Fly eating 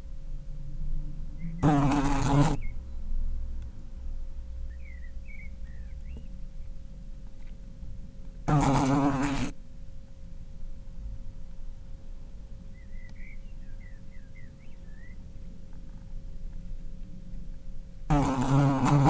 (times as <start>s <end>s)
1.3s 2.9s, 3.5s 15.5s, 18.0s 19.0s